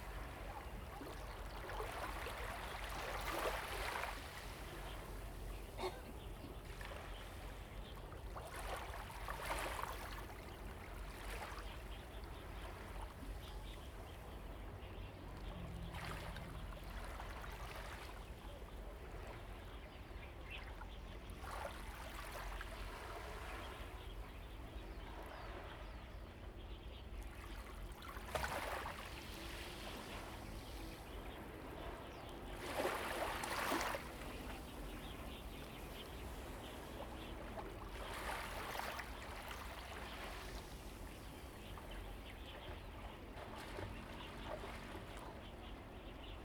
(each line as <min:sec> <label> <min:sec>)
0:00.0 Waves and tides 0:46.4
0:29.9 Birds singing 0:46.4